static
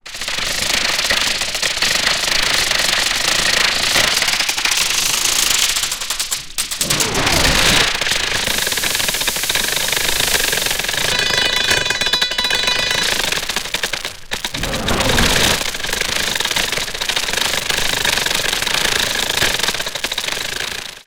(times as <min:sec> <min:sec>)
0:12.6 0:16.0